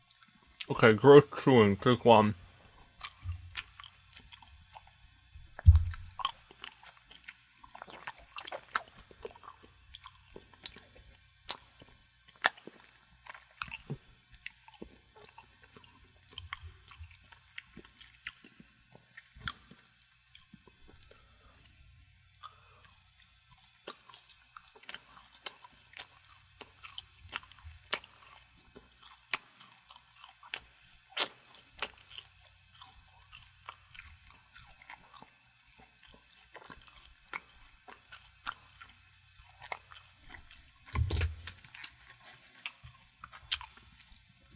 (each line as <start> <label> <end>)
2.7 chewing with mouth open 44.5